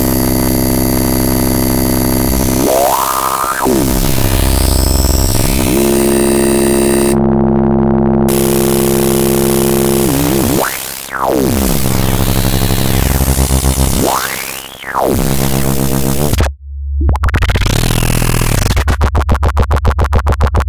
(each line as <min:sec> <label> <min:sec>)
0:00.0 modular synth making weird electronic noises 0:20.6